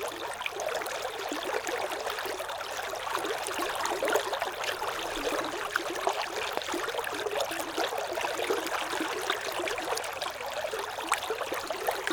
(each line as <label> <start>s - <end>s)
water 0.0s - 12.1s